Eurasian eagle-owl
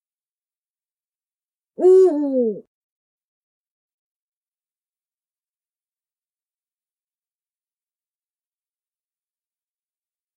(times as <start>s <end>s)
1.8s 2.7s